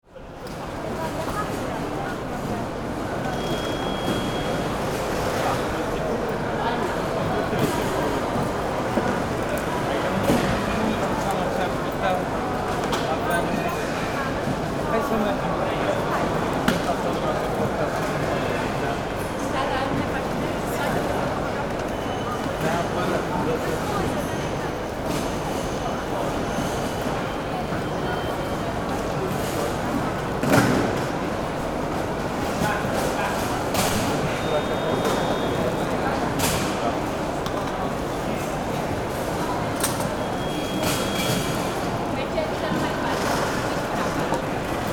safety checks at the gate 0:03.1 - 0:14.1
safety checks at the gate 0:32.5 - 0:44.9

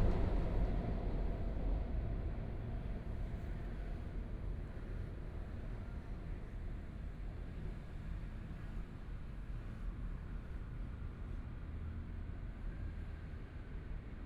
trains 0:00.0 - 0:11.6

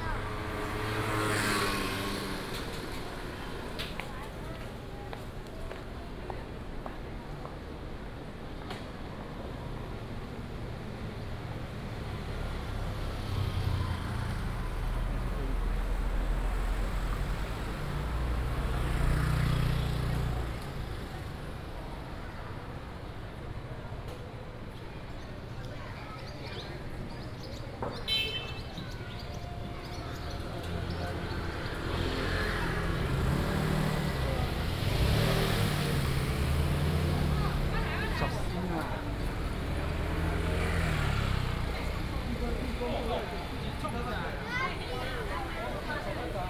traffic sound 0:00.0 - 0:46.4

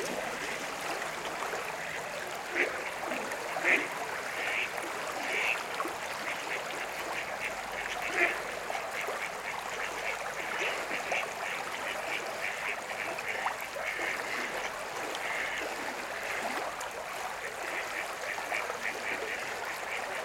voices and tones of the river 0:00.0 - 0:20.2
geese 0:06.2 - 0:16.6

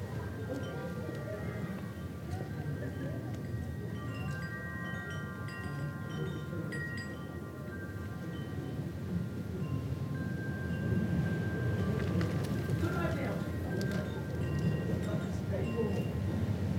people passed by, chatting 0:00.0 - 0:16.7
wind 0:00.0 - 0:16.7
wind chimes hanging outside a shop 0:00.0 - 0:16.7
paper bag from Simon's pie shop rustled in the wind 0:11.4 - 0:15.0

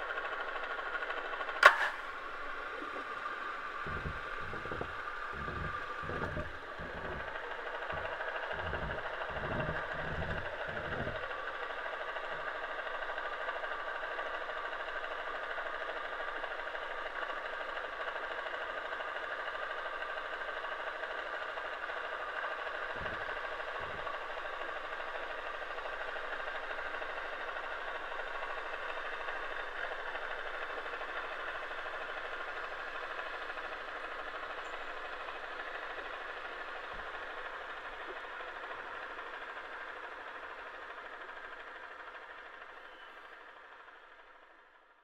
little motoric boat approaching 0:00.0 - 0:44.7

